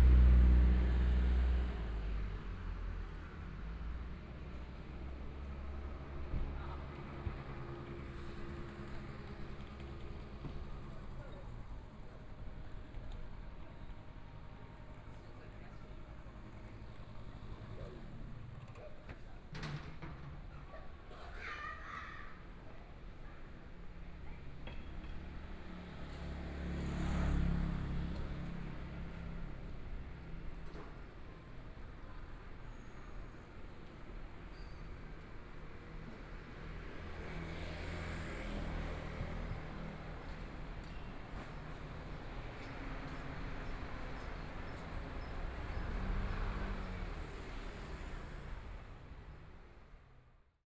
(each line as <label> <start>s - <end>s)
Traffic Sound 0.0s - 19.4s
Traffic Sound 20.2s - 50.4s